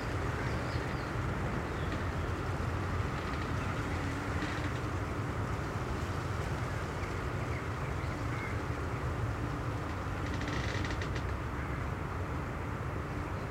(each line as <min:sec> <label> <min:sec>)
0:00.0 old willow tree in wind 0:13.5